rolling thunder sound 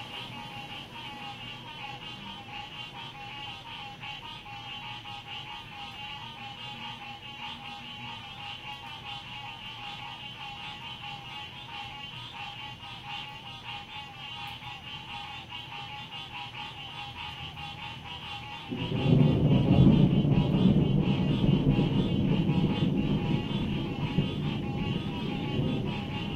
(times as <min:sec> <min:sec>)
0:18.6 0:26.3